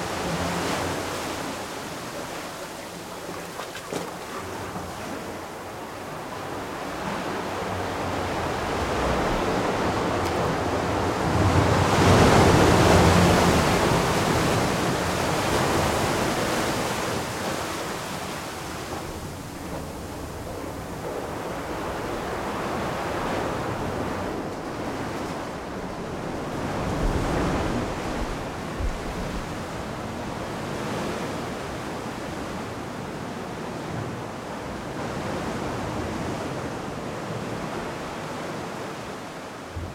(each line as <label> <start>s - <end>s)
water coming from the waves 0.0s - 32.8s